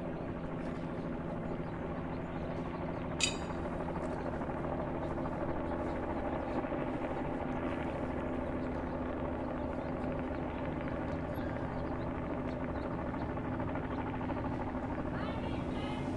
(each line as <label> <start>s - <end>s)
helicopter hovering 0.0s - 16.1s
kids playing 15.1s - 16.1s